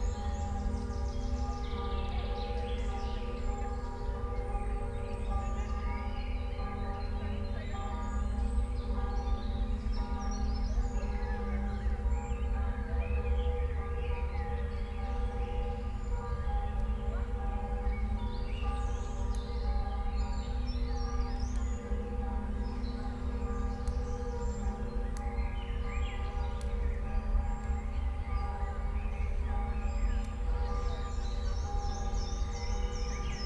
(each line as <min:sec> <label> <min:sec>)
0:00.0 church bells 0:33.4